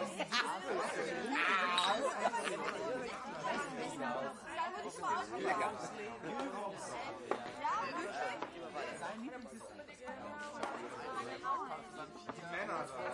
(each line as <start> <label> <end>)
0.0 people talking in the background 13.1
0.1 laugh 3.1
1.1 toast each other 2.8
1.7 set drinks on the tables 2.2